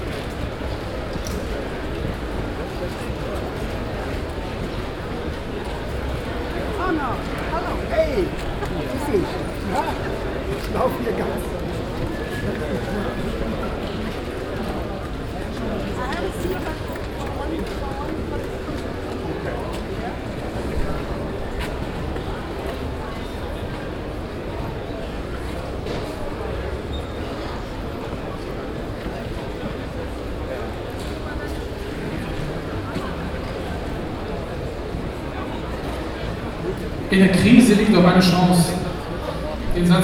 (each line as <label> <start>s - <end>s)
audience atmosphere 0.0s - 40.0s
announcement 37.1s - 40.0s